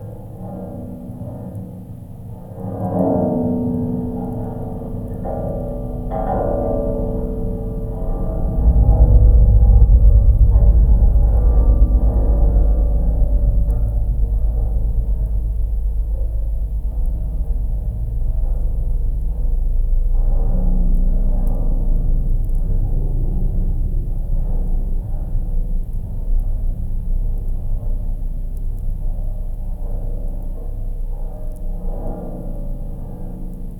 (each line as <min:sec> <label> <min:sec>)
0:03.8 strong wind 0:30.4
0:04.2 distant lightnings 0:33.7
0:05.4 metallic bridge 0:20.6